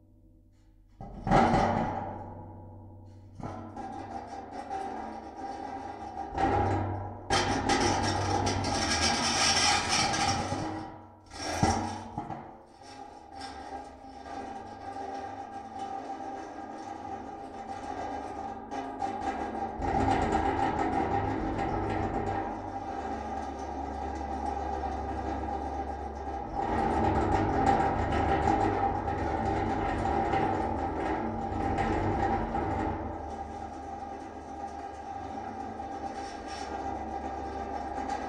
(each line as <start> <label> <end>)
34.7 metal chair 38.2